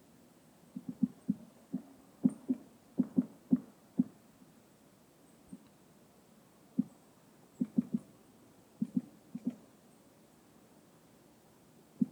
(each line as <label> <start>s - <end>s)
woodpecker 7.6s - 8.1s